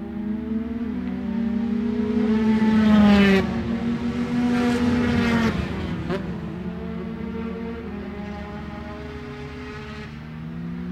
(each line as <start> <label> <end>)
0.0 Motorcycle Grand Prix 10.9